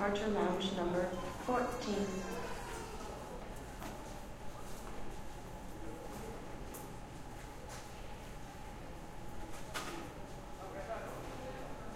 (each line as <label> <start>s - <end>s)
flight announcements 0.0s - 2.5s